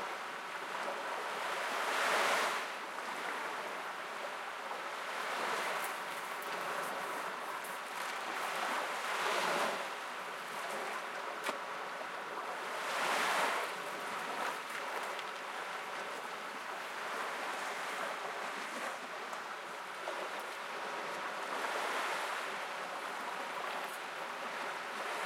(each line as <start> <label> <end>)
0.0 Calm waves 25.2
0.0 people walking along the shore 25.2